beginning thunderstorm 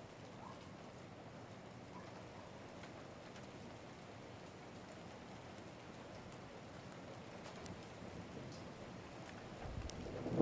0:09.6 0:10.4

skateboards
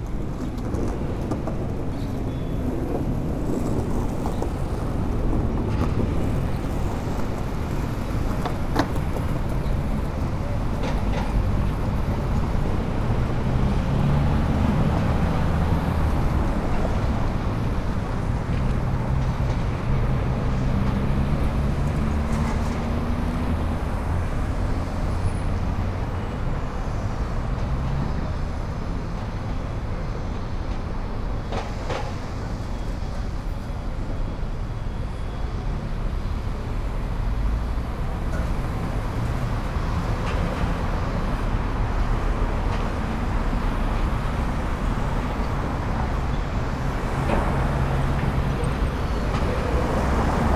0:00.0 0:17.1

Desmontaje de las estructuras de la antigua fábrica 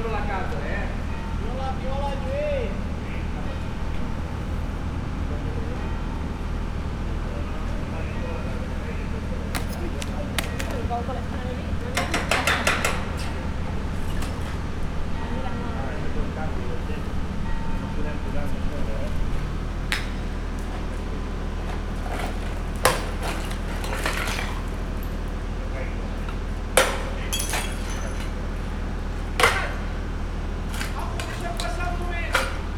0:07.1 0:13.8

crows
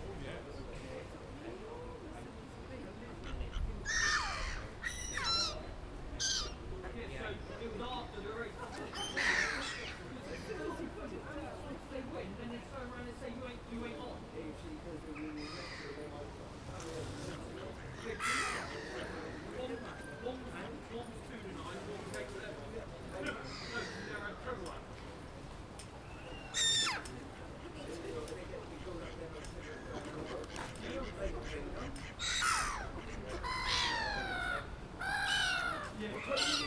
0:03.2 0:05.6, 0:08.9 0:10.2, 0:15.3 0:16.0, 0:17.8 0:20.2, 0:23.3 0:24.4, 0:29.1 0:36.6

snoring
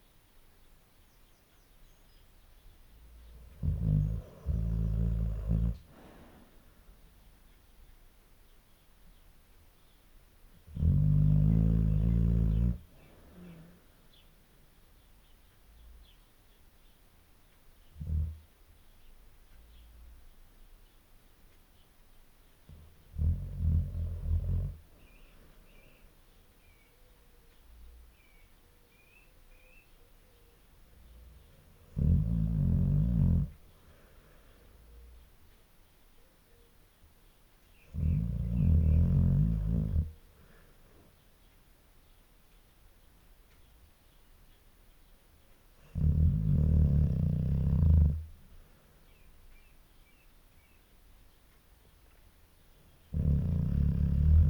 0:03.2 0:06.5, 0:10.7 0:13.8, 0:18.0 0:18.4, 0:22.7 0:26.0, 0:31.1 0:33.6, 0:37.8 0:40.2, 0:45.8 0:48.4, 0:53.1 0:54.4

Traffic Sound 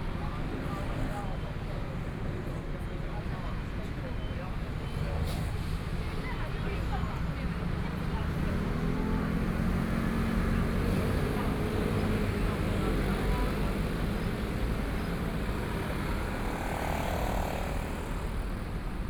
0:08.0 0:19.0

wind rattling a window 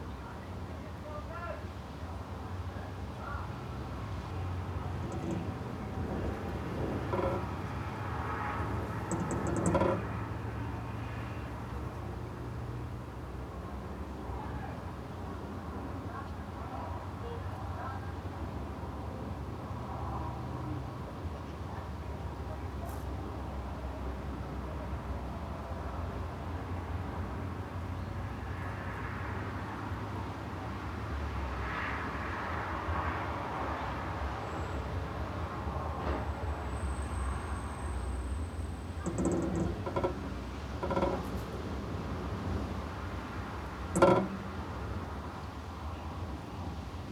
0:02.8 0:13.6, 0:37.3 0:47.1

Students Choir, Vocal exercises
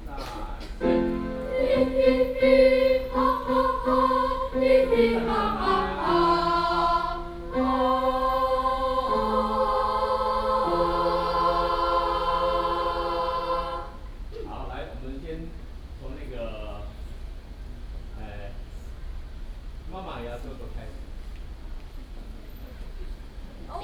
0:00.1 0:14.2

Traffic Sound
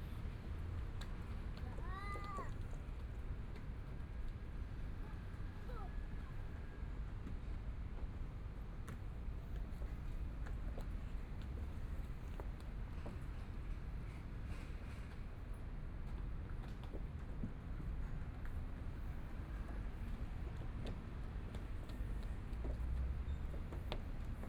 0:19.1 0:24.4

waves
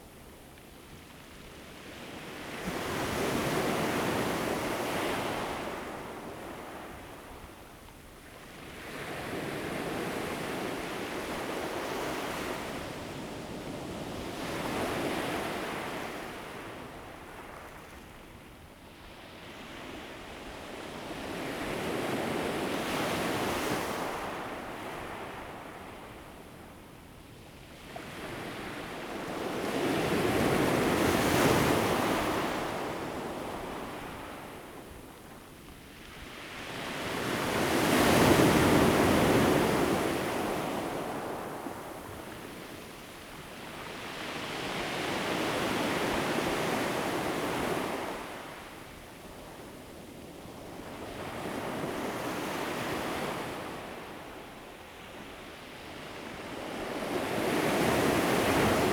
0:57.4 0:58.9

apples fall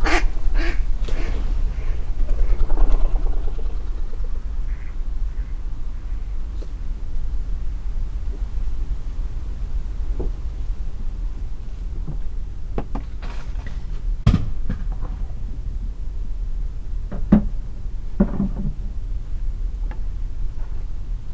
0:13.0 0:15.6

